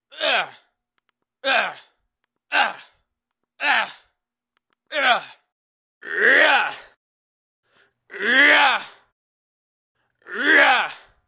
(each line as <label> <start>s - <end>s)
general screams 10.3s - 11.1s